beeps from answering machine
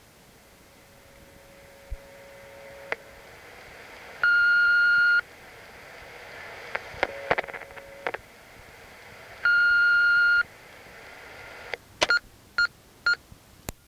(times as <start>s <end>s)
4.2s 5.2s, 9.4s 10.5s